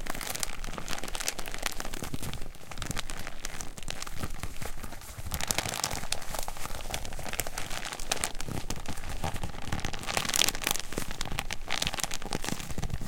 Plastic bag 0.0 - 13.0

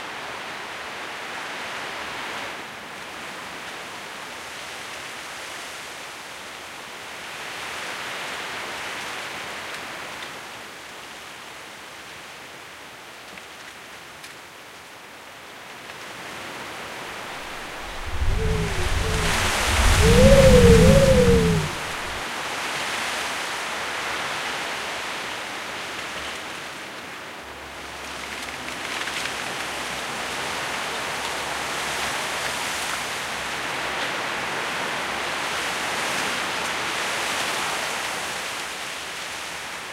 windscape 17.3 - 22.2

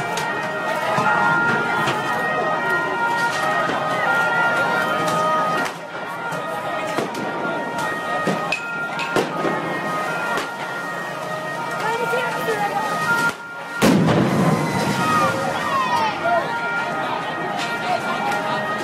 police truck 0.0 - 18.8
crowd who rejoy and scream 13.8 - 18.8

